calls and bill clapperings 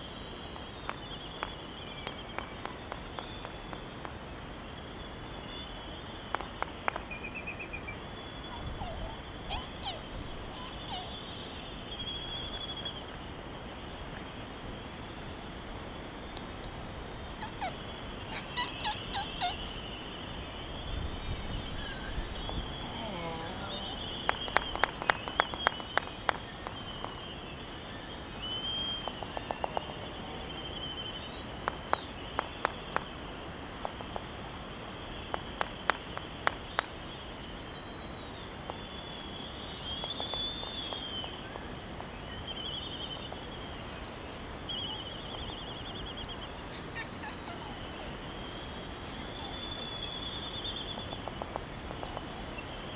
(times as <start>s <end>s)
0.1s 4.5s, 6.2s 7.4s, 8.5s 11.3s, 15.7s 20.1s, 21.4s 27.4s, 29.0s 37.2s, 46.2s 52.9s